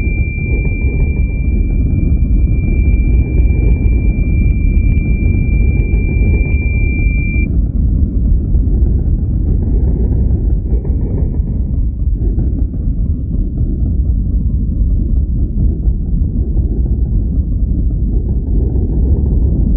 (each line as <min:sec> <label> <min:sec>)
0:00.0 drone 0:07.5